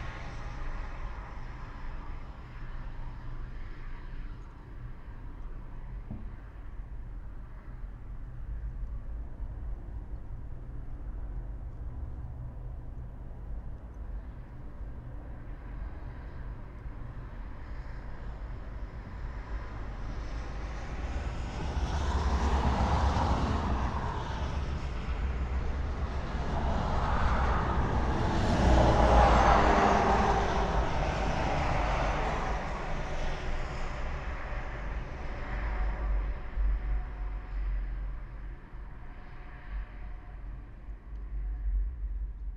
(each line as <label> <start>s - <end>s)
highway 0.0s - 42.5s